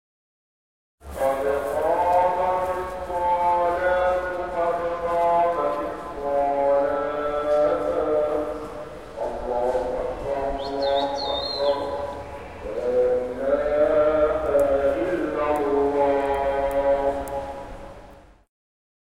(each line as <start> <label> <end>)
1.0 Pedestrians 18.4
1.0 Traffic 18.4
1.2 Muezzin call 17.8